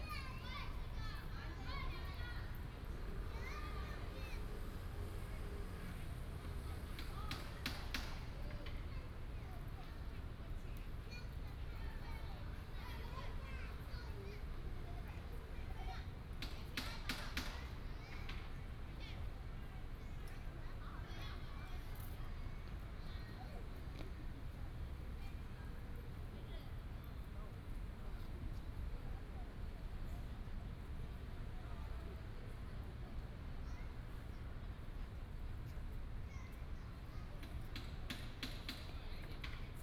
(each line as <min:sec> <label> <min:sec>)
0:00.0 Child 0:25.7
0:33.1 Child 0:39.8